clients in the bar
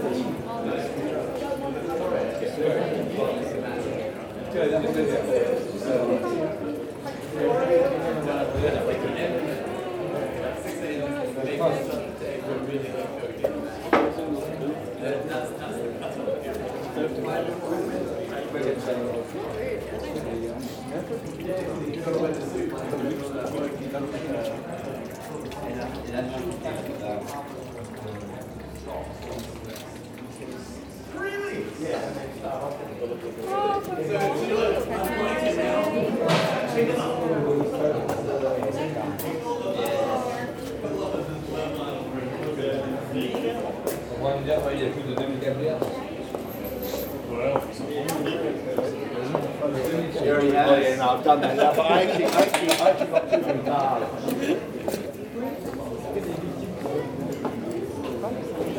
52.0s 53.0s

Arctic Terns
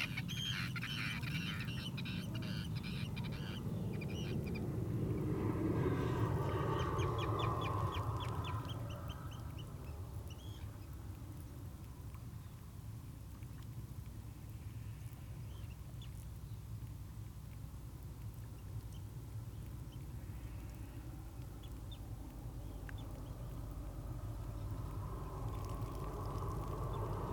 0.0s 11.0s

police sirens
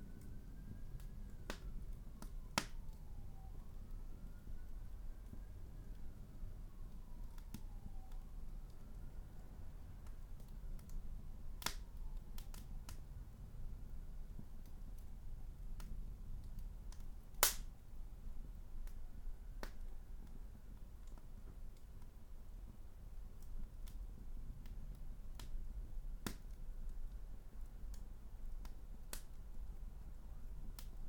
0.0s 10.0s

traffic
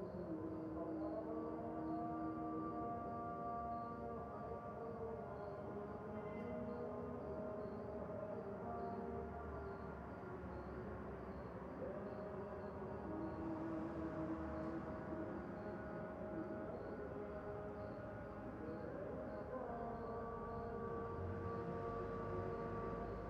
12.7s 16.0s, 21.1s 23.2s

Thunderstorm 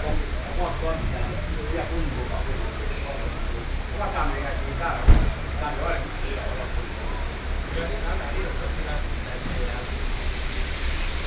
0.0s 6.2s

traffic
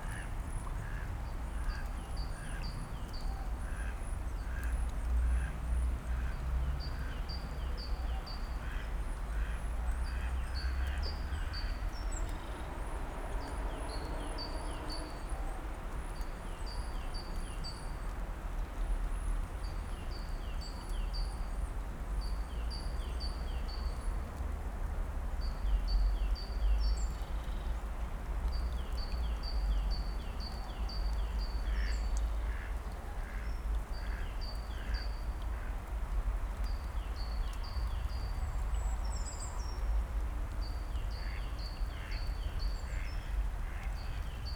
8.6s 19.9s

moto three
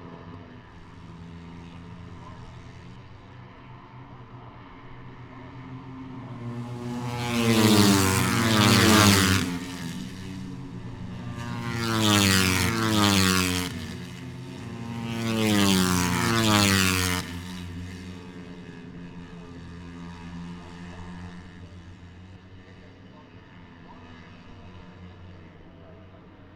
5.2s 22.3s

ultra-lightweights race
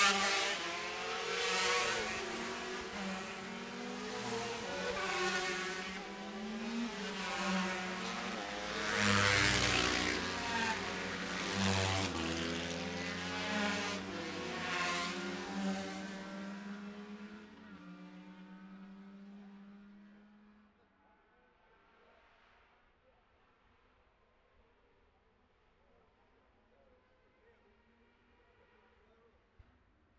0.0s 18.0s

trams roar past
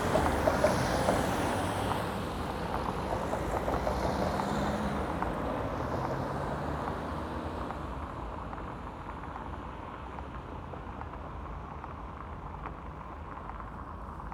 0.0s 5.8s

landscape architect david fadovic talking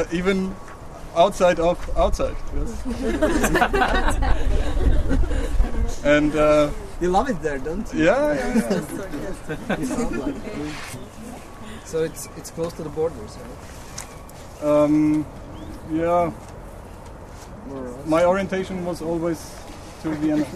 0.0s 3.3s, 5.9s 13.6s, 14.6s 16.4s, 17.7s 20.5s

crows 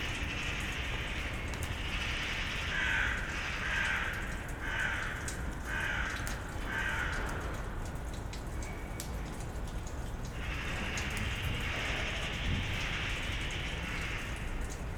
2.7s 7.4s

